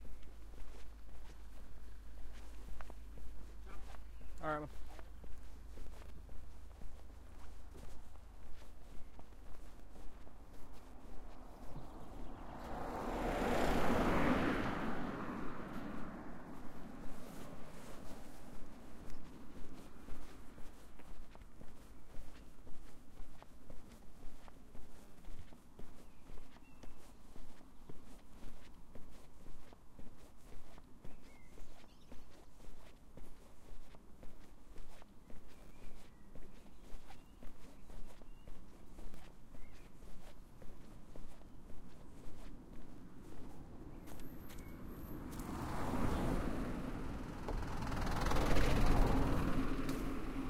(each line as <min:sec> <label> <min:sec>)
0:00.0 Birds 0:15.8
0:00.0 Walking on tarmac road 0:50.4
0:00.0 intermittent cars driving by 0:50.4
0:16.6 Birds 0:50.4
0:47.5 bird flys away 0:50.2